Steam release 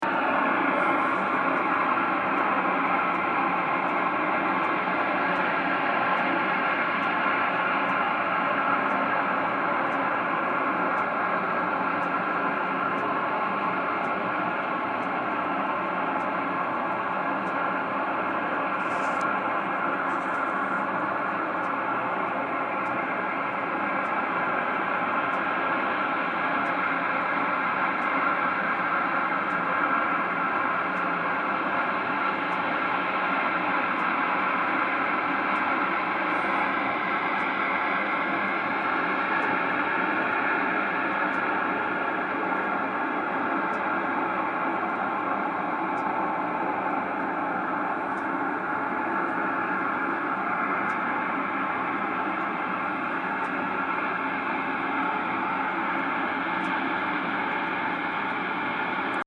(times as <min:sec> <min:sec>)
0:00.1 0:04.8, 0:33.4 0:59.1